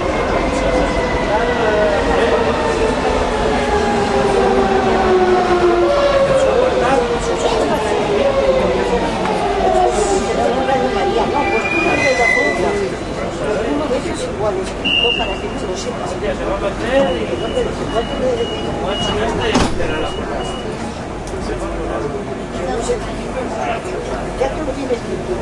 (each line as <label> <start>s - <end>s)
train arrives to subway platform 0.0s - 25.4s